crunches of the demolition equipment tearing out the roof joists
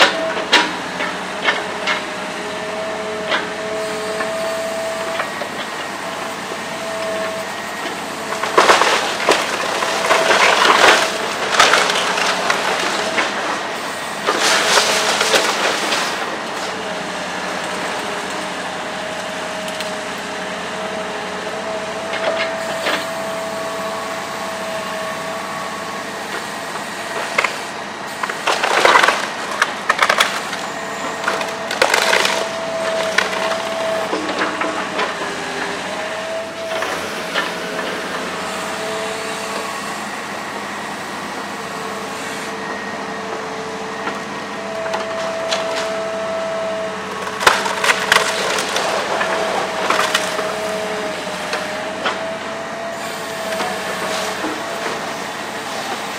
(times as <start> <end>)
7.8 18.0, 28.1 39.8, 44.8 56.1